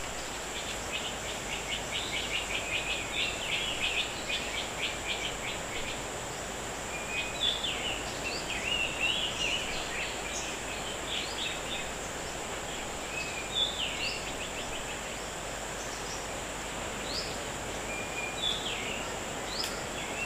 small black and white birds with relatively big voices 0.2 - 20.2

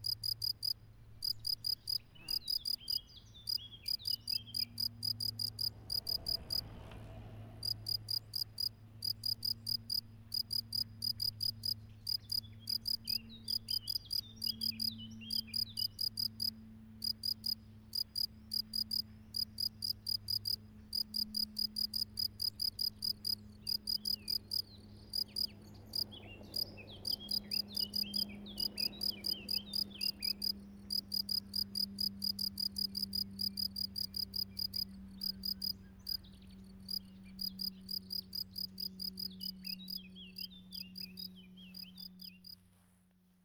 Crickets singing 0.0 - 6.6
birds singing 1.3 - 4.8
Crickets singing 7.6 - 36.2
birds singing 11.6 - 16.3
birds singing 23.3 - 31.3
birds singing 34.5 - 42.5
Crickets singing 36.9 - 42.6

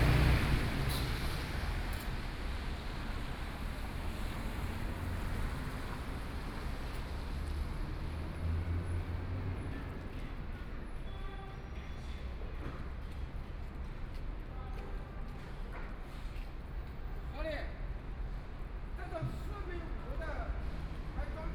Construction site noise 0.0 - 21.5
Traffic Sound 0.0 - 21.5

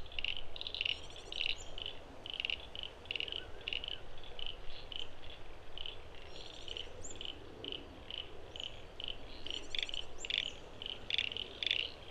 frogs go from quiet to deafening 0.0 - 12.1

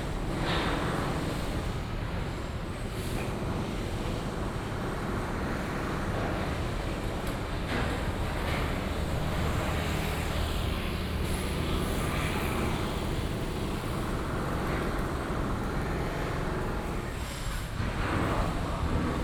Traffic Sound 6.8 - 18.0

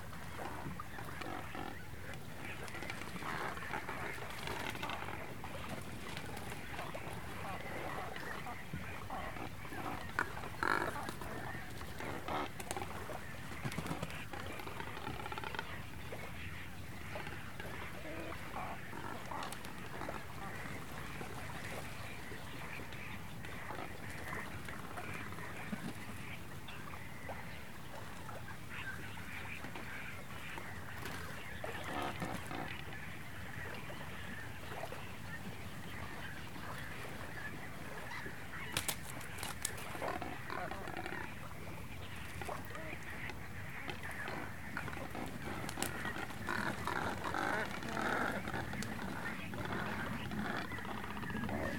Cormorants 0.0 - 51.7
small ocean birds 0.0 - 51.7
seagulls 0.2 - 51.7
bird droppings 38.1 - 40.6

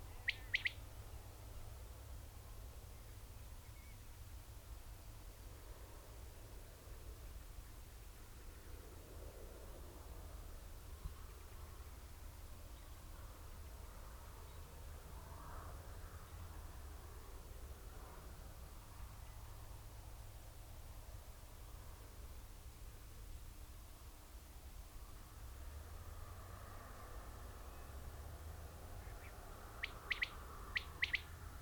skylark 0.1 - 0.8
bird calls from corn bunting 0.1 - 0.8
blackbird 0.1 - 0.8
Quails calling 0.1 - 0.8
red-legged partridge 0.1 - 0.8
grey partridge 0.1 - 0.8
blackbird 29.0 - 31.3
bird calls from corn bunting 29.0 - 31.3
grey partridge 29.0 - 31.3
skylark 29.0 - 31.3
red-legged partridge 29.1 - 31.3
Quails calling 29.2 - 31.3

